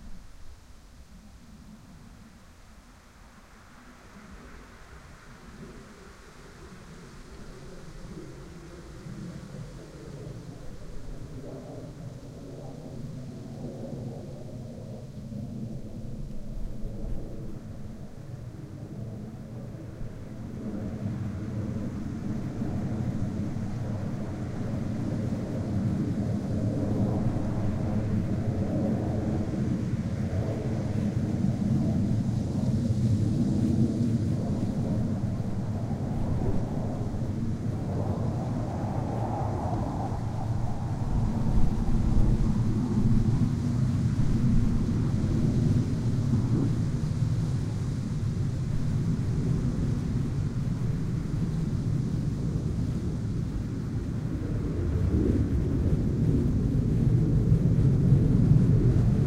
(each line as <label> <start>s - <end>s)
wind 0.0s - 59.2s
F-16 Fighting Falcon flying low 4.2s - 59.2s